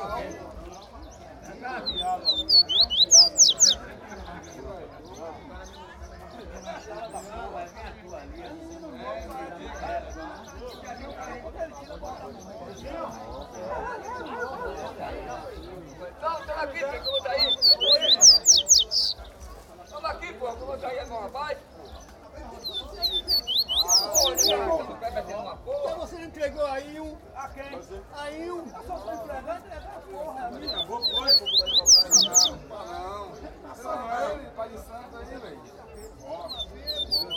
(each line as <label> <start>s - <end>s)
papa-capims singing 1.8s - 3.8s
papa-capims singing 17.0s - 19.2s
papa-capims singing 22.6s - 24.7s
papa-capims singing 30.7s - 32.5s
papa-capims singing 36.5s - 37.3s